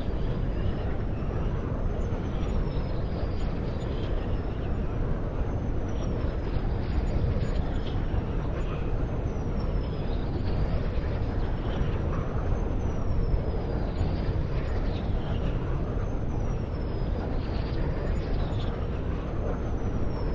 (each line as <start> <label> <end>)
0.0 wind 20.3